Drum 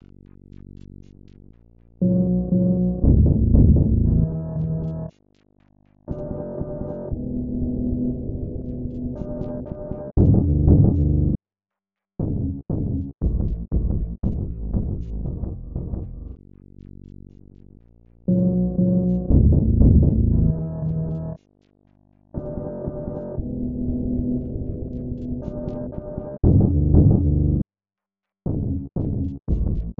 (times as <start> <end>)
2.9 5.2, 9.1 11.3, 12.2 17.7, 19.1 21.4, 22.4 23.5, 24.6 27.6, 28.5 29.9